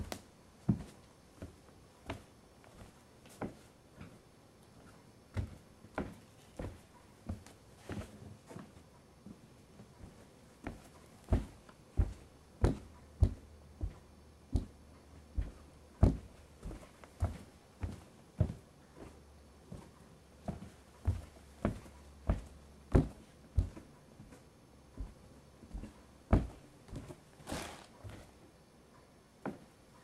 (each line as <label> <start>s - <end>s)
Walking on a wood floor 0.0s - 28.4s
Walking on a wood floor 29.4s - 29.8s